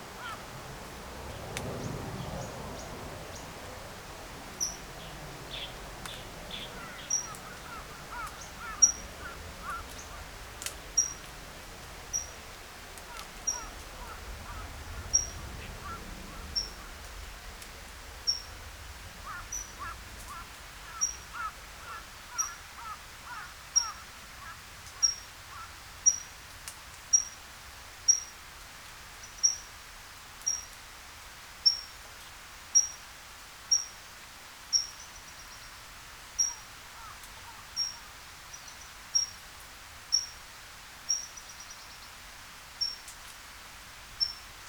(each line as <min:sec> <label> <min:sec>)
0:00.0 great number of kinds of birds 0:27.2
0:00.2 Crow 0:00.4
0:06.7 Crow 0:10.2
0:19.2 Crow 0:24.6
0:34.7 great number of kinds of birds 0:39.5
0:37.0 Crow 0:38.0